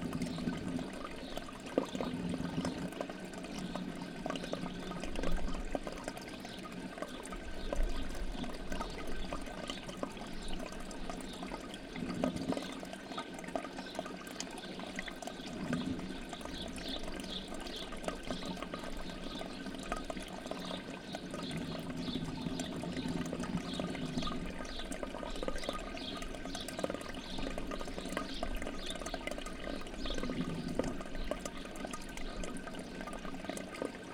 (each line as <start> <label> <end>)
0.0 water duct running from a public fountain 34.1